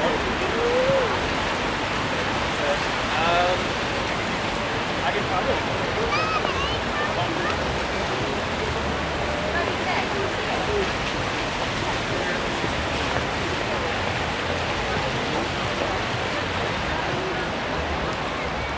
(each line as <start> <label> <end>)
0.0 multi-group chatter 18.7
0.0 pedestrians 18.7
0.0 raindrops falling 18.7
6.0 children talking/yelling 7.6